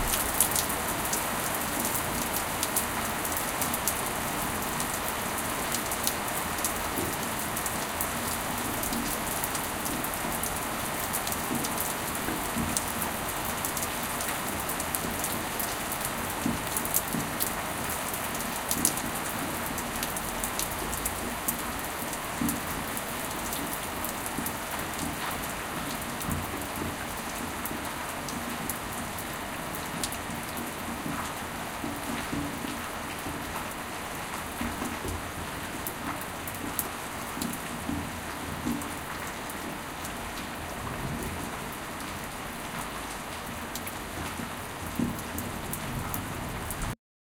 0.0s Regular Thunder 1.0s
0.0s rain 47.0s

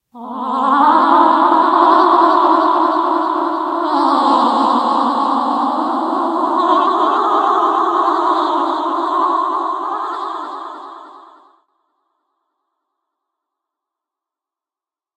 0.1s Ghosts sing 11.5s

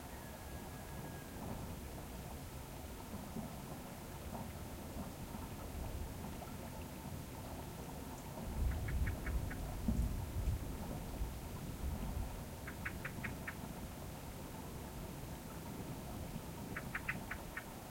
0.0s small water stream 17.9s
0.0s rooster 1.6s
8.4s wind gusts 17.9s
12.6s birds 13.6s
16.7s birds 17.8s

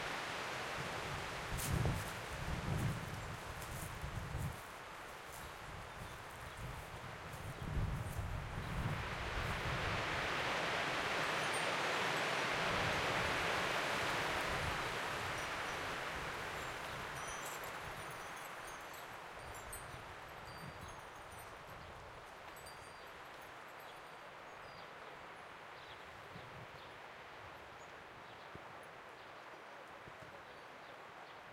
0.0s wind 31.5s

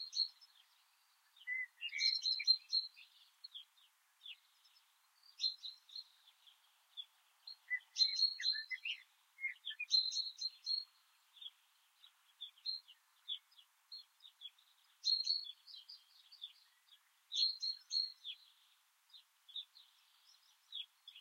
0.0s birds 21.2s

